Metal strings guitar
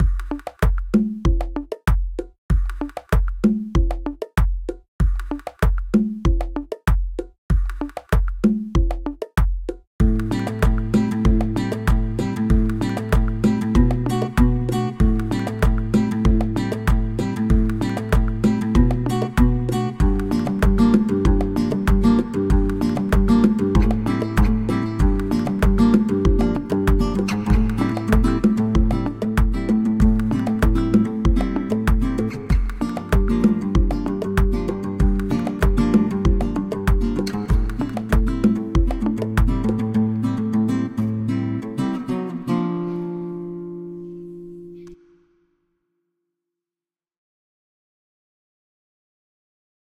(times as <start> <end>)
10.0 44.9